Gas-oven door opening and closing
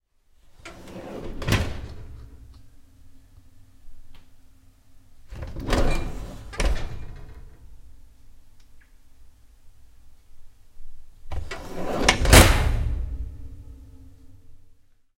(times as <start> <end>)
0.5 2.7, 5.3 7.8, 11.3 13.6